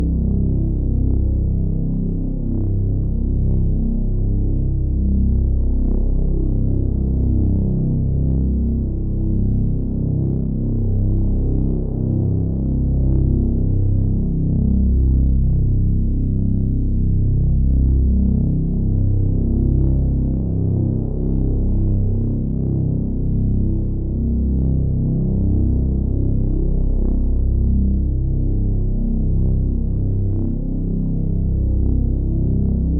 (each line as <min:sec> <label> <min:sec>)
0:00.0 drone 0:32.9